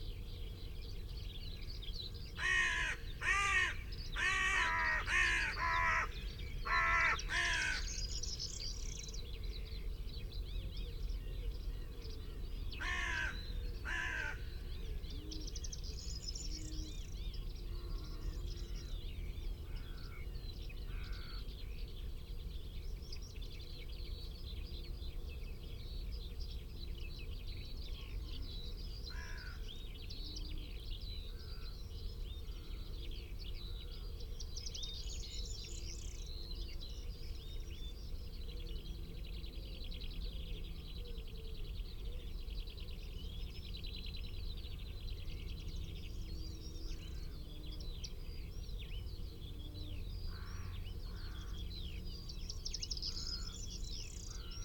pheasant 1.0 - 21.7
crow 2.4 - 8.0
crow 12.8 - 14.5
crow 20.9 - 21.4
crow 29.1 - 29.7
crow 50.3 - 51.7

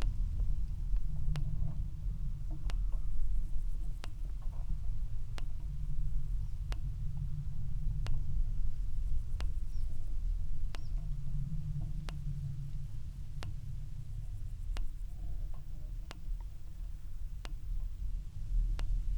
clicks 0.0 - 8.5
clicks 9.1 - 19.1

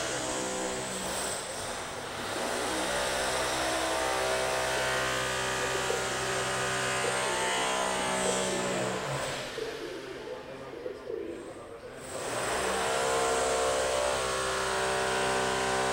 drill 0.0 - 9.7
People talking 3.6 - 14.2
drill 12.0 - 15.9

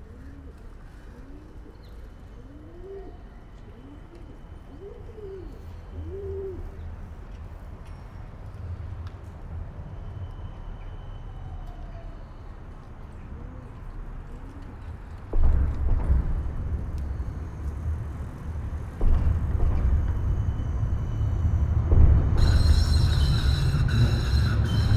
male pigeon cooing en courting a female 0.1 - 6.8

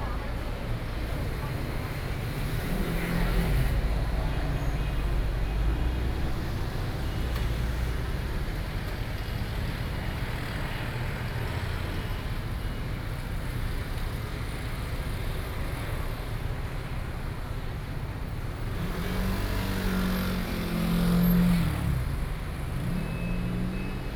Traffic Noise 0.0 - 24.1

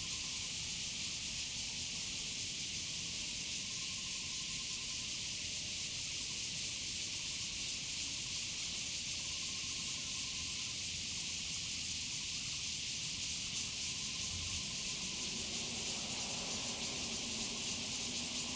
Cicadas sound 0.0 - 18.5
Frogs sound 12.2 - 18.5
Traffic Sound 13.6 - 18.5

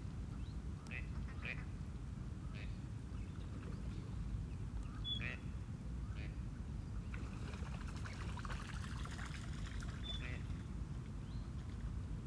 moorhen pattering across the lake surface 7.2 - 10.6

